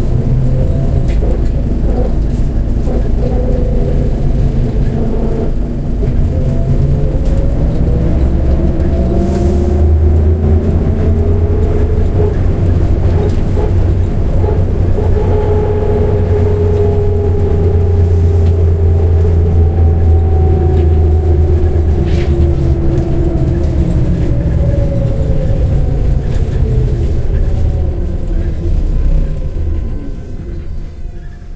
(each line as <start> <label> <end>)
0.0 Trackless Trolley 31.5